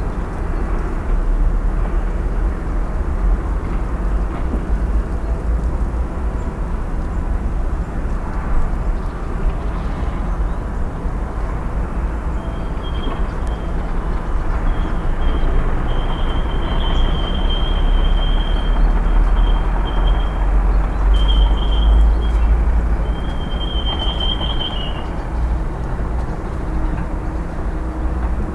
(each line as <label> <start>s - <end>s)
sounds of a city under construction 0.0s - 28.5s